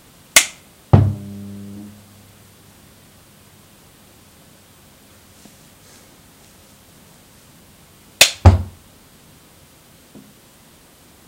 1.0s turn the switch off 2.4s

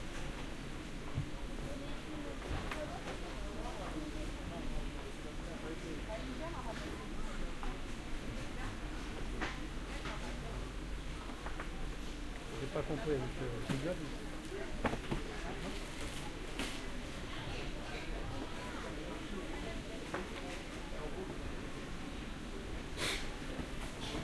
0.9s vendors and customers talking 24.2s

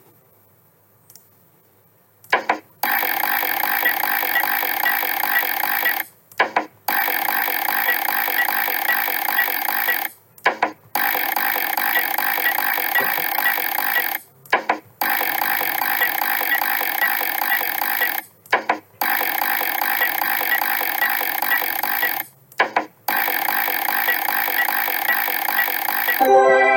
2.8s slot machine 6.1s
2.8s slot machine reels 6.1s
6.9s slot machine 10.1s
6.9s slot machine reels 10.2s
11.0s slot machine 14.2s
11.0s slot machine reels 14.2s
15.0s slot machine 18.3s
15.0s slot machine reels 18.3s
19.0s slot machine 22.3s
19.0s slot machine reels 22.3s
23.1s slot machine 26.7s
23.1s slot machine reels 26.7s

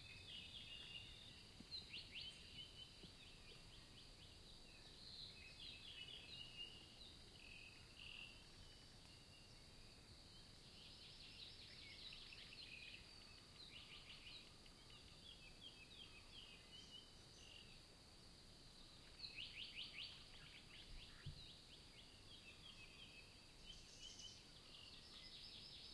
0.0s birds 25.9s

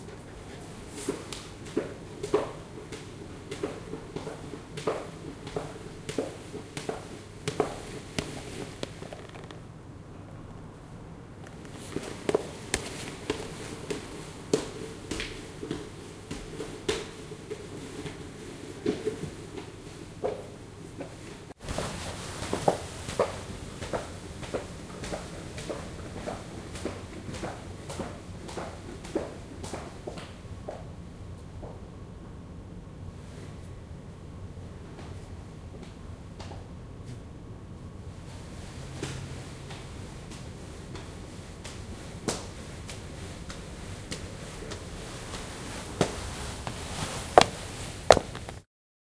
0.0s Walking in heels on stairs 9.7s
11.4s Walking in heels on stairs 30.9s
39.0s Walking in heels on stairs 48.6s
44.3s satin dress 48.6s

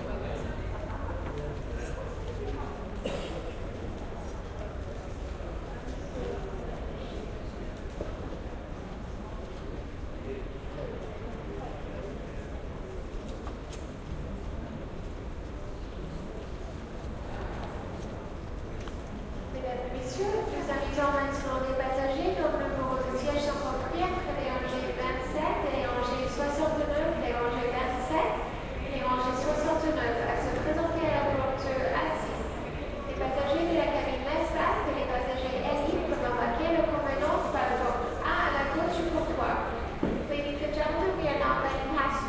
19.6s announcements 42.2s

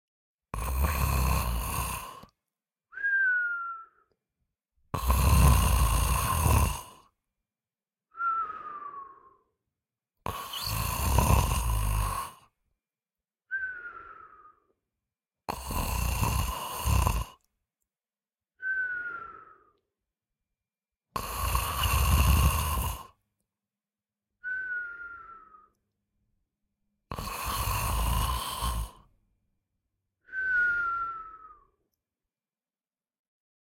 0.5s Male Snore 2.4s
4.9s Male Snore 7.1s
10.2s Male Snore 12.5s
15.5s Male Snore 17.4s
21.1s Male Snore 23.2s
27.1s Male Snore 29.1s

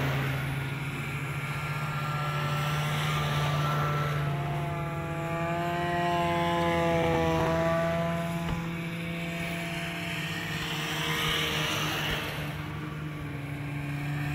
0.0s snowmobiles pass by 14.3s

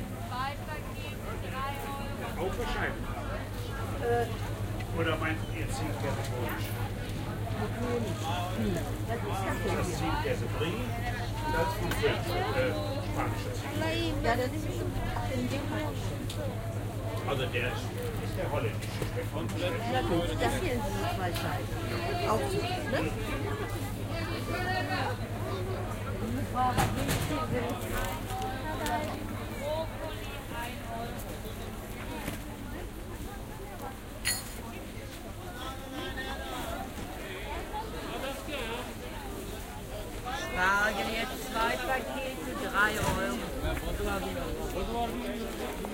0.0s Customers walking around and talking 45.9s

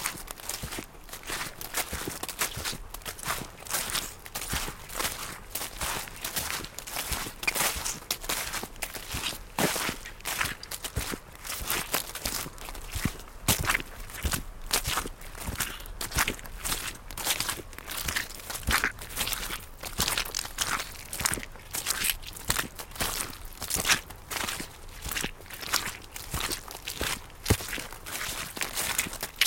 0.0s Steps with rubber boots on a wet field 29.4s

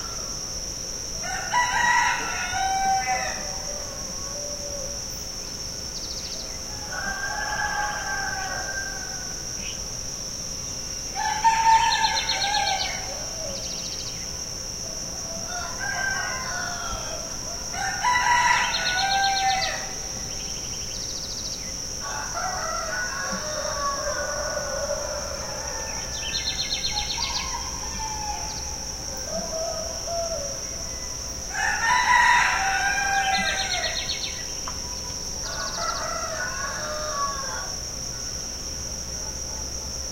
0.0s cicada 40.1s
1.0s roosters 5.2s
6.3s roosters 9.7s
11.1s roosters 14.0s
11.2s birds 14.4s
14.6s roosters 21.2s
15.2s birds 37.7s
21.8s roosters 38.4s

